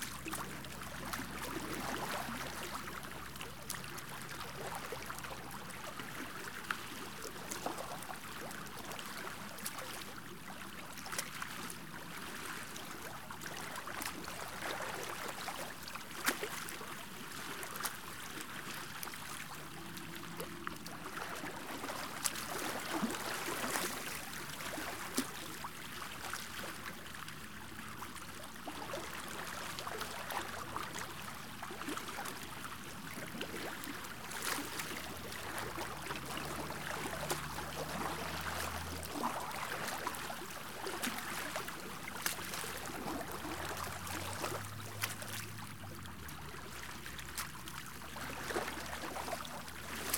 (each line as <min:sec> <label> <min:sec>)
0:00.0 light boating ambiance 0:50.1